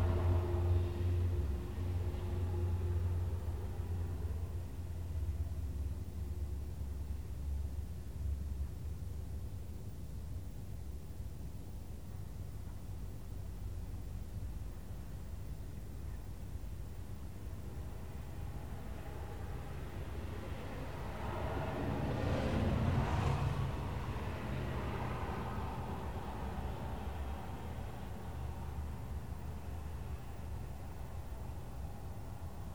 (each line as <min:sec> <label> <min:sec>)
0:00.0 Ferry horns 0:04.5
0:00.0 Car, truck and bus traffic 0:06.6
0:00.0 Train horns 0:04.2
0:17.7 Car, truck and bus traffic 0:32.7
0:19.2 Prop and jet aircraft 0:28.5